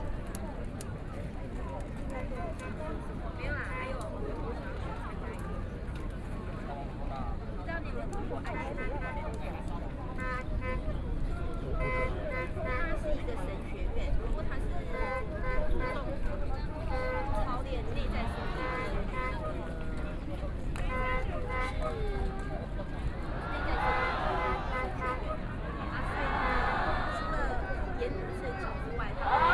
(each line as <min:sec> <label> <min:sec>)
0:08.4 Thousand Protesters gather 0:29.5
0:23.2 Shouting slogans 0:28.0
0:28.9 Shouting slogans 0:29.5
0:29.1 Everyone singing protest songs 0:29.5